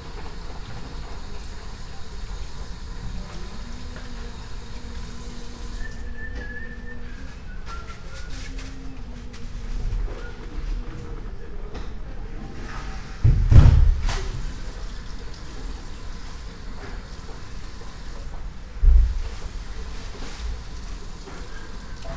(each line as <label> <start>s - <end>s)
cleaning women and her song 0.0s - 9.8s